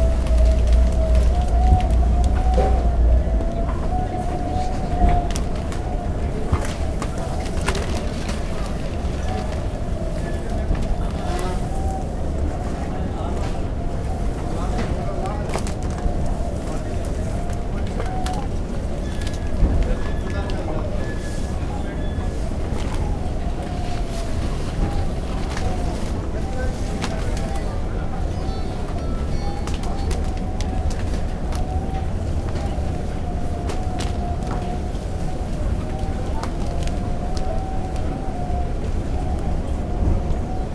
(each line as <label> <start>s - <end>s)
luggage transportation belt 0.0s - 11.6s
passengers talking 0.0s - 40.7s